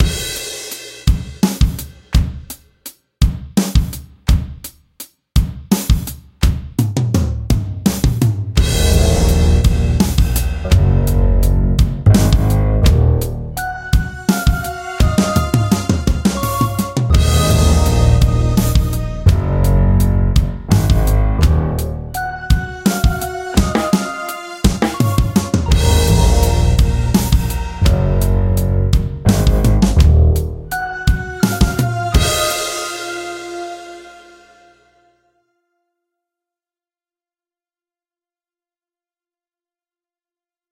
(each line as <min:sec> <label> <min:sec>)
0:00.0 drumbeat 0:02.6
0:03.2 drumbeat 0:33.9
0:08.6 Drone 0:34.7
0:08.6 brighter synth-tones 0:35.1
0:08.7 eerie dark piano 0:24.0